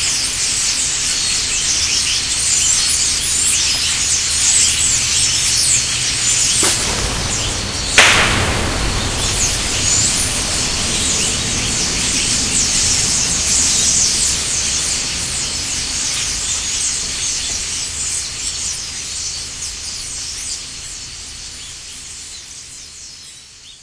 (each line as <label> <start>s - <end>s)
bottle rockets 6.3s - 13.1s
starling 6.4s - 12.8s